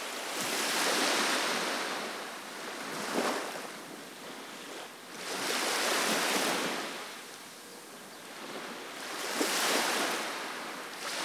Waves lapping Segura Beach 0:08.4 - 0:11.2

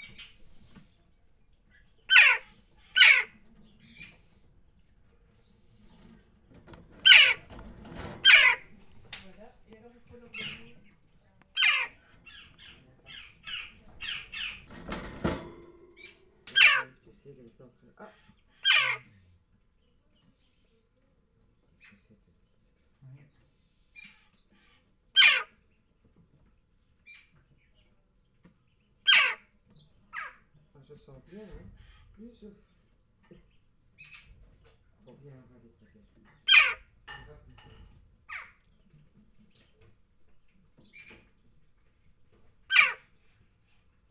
Giving food to the three magpies 0:02.1 - 0:04.4
Giving food to the three magpies 0:05.5 - 0:10.9
Giving food to the three magpies 0:11.6 - 0:16.8

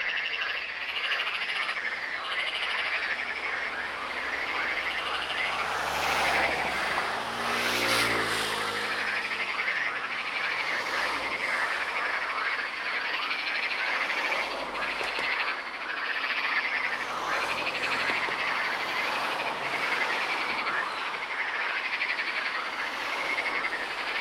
Frogs 0:00.0 - 0:24.2
cars passing by 0:00.1 - 0:24.2

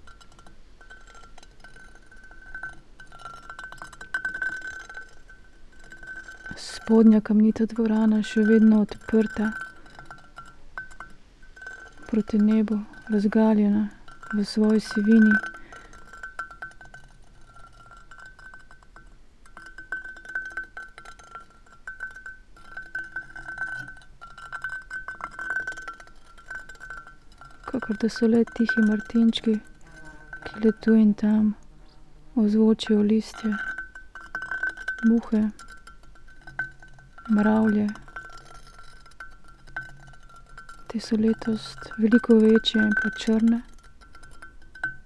stone and iron 0:00.0 - 0:45.0

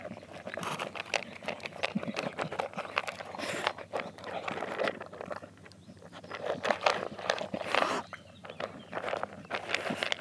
Dog eating 0:00.0 - 0:10.2

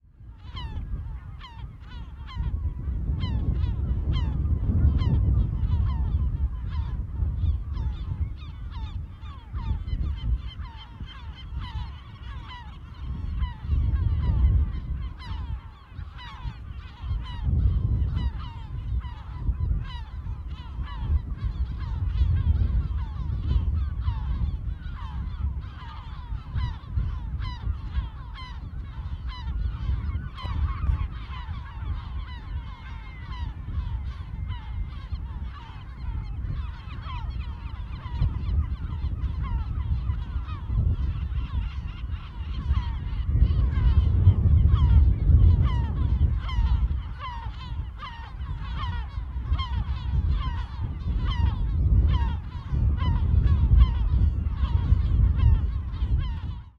Seagulls 0:00.0 - 0:56.7

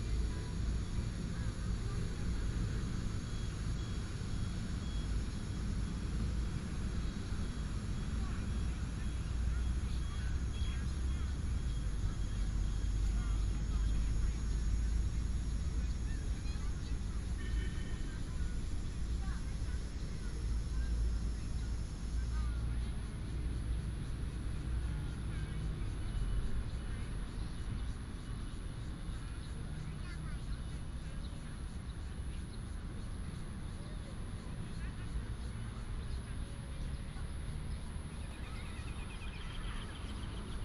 Traffic sound 0:00.0 - 0:40.6
birds sound 0:24.6 - 0:40.6

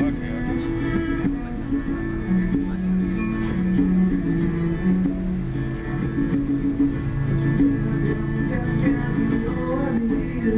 traffic noise 0:00.0 - 0:10.5

